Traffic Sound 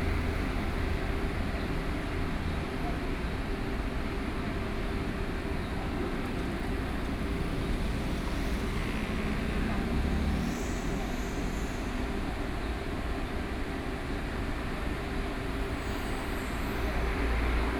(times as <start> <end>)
6.2 13.3